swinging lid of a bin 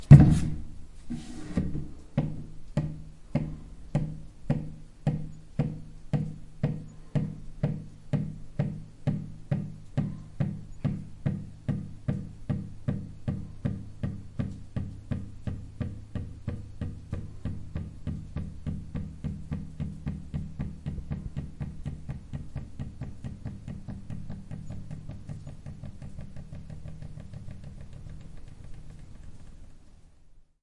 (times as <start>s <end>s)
0.0s 2.5s